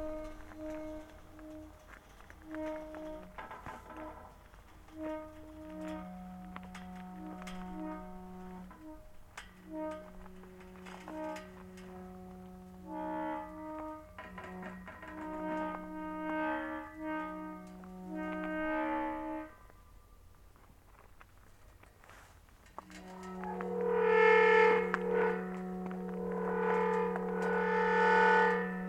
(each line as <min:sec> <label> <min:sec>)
0:00.0 rusty gate 0:20.3
0:00.0 wind 0:28.8
0:21.7 rusty gate 0:28.8